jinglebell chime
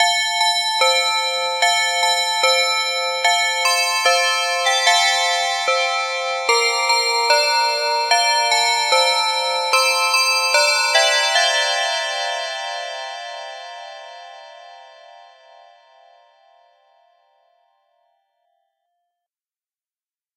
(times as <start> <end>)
0.0 13.3